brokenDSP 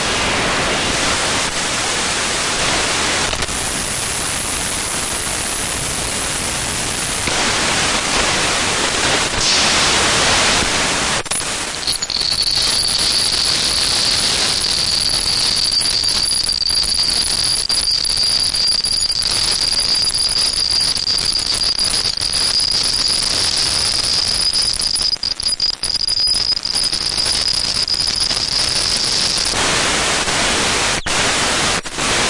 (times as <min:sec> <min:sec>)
0:11.3 0:31.5